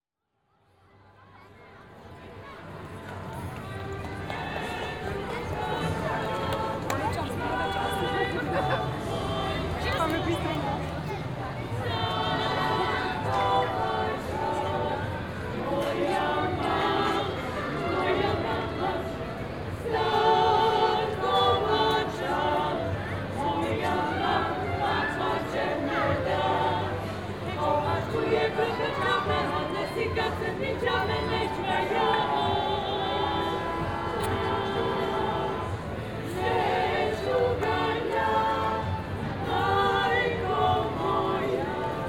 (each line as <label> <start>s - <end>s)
some other band on the other square in the background 1.2s - 42.0s
choir 1.9s - 42.0s